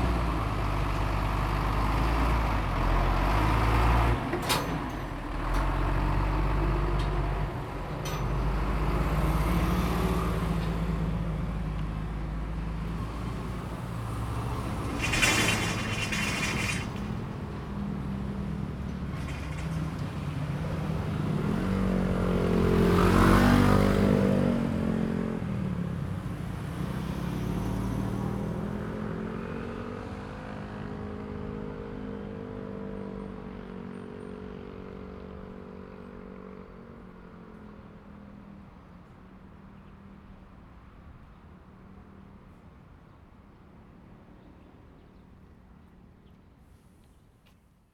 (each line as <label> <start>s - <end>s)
Traffic sound 0.0s - 47.7s